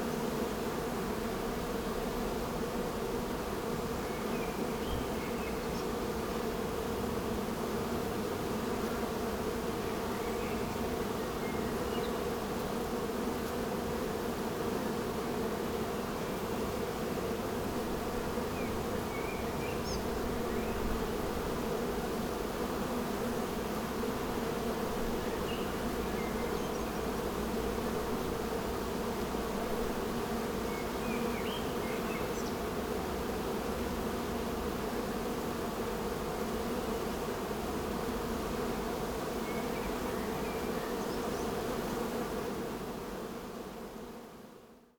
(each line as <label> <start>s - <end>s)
bee hives 0.0s - 44.9s